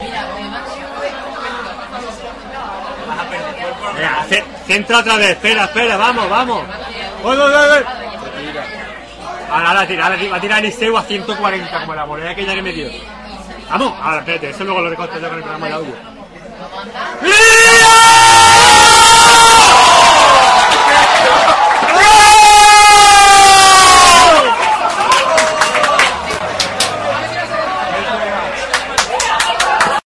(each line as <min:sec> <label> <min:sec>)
0:00.0 pub ambient sound 0:18.1
0:23.4 pub ambient sound 0:30.0